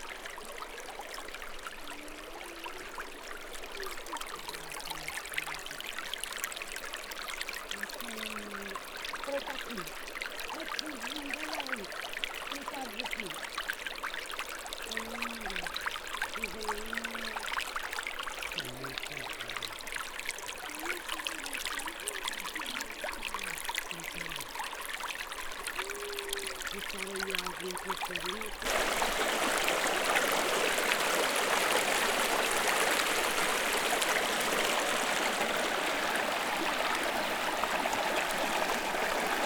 0.0s small stream 39.4s

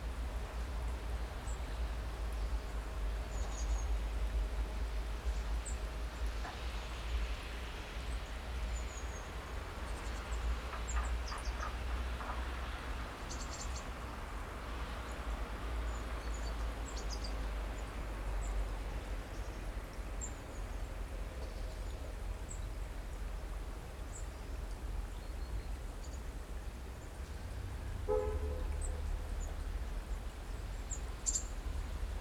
0.0s city hum 32.2s
0.0s water 32.2s
8.7s birds 12.7s
28.2s birds 32.2s

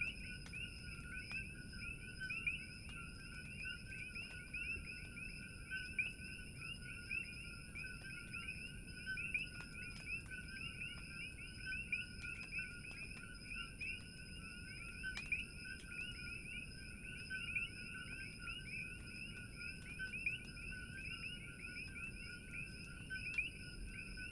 0.0s Coqui's -tree frogs- 24.3s

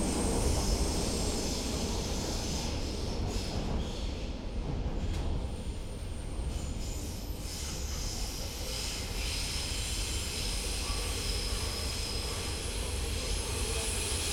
0.0s railway train 14.3s

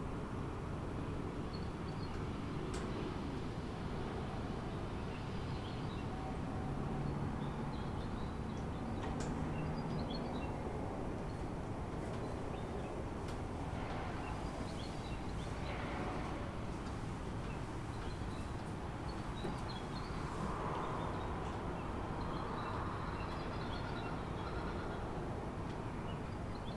0.1s distant traffic 26.7s

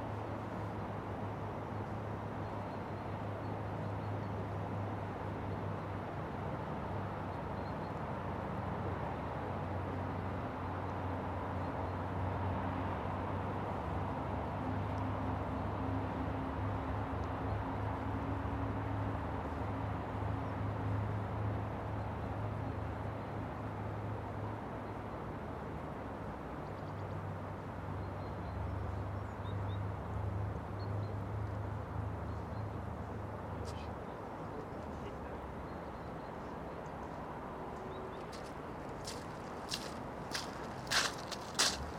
0.0s noise of cars passing on the road nearby 41.9s
37.8s footsteps 41.9s

